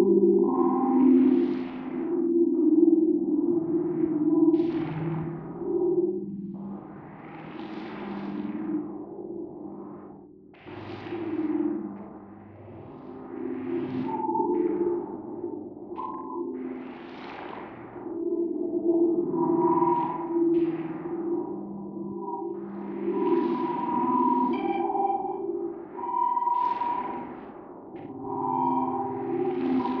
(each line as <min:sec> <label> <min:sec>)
0:28.0 synth 0:30.0